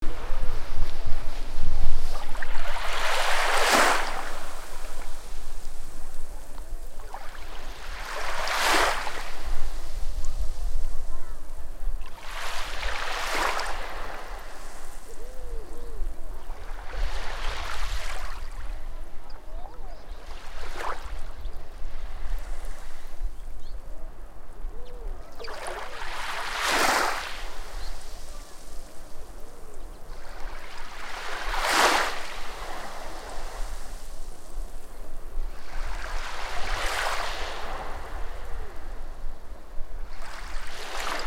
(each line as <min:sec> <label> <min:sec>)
0:00.0 sea 0:41.2
0:00.0 wind 0:41.2